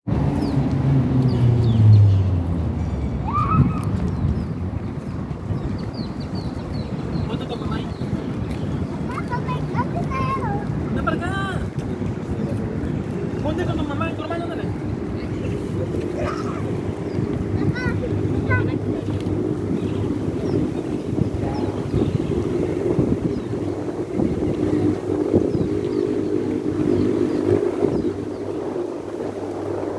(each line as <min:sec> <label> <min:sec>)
0:00.1 people walking and running 0:29.9
0:00.2 birds 0:29.8
0:05.6 voices from people 0:28.7